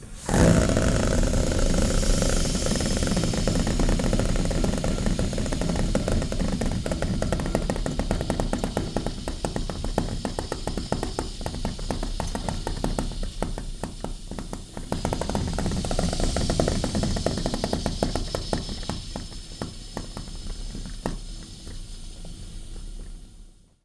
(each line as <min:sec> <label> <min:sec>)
0:00.0 spluttering sound from a steam valve 0:23.6